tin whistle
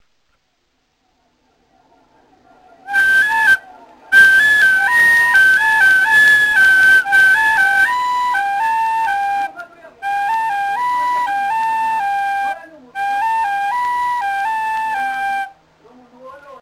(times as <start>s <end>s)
2.9s 15.6s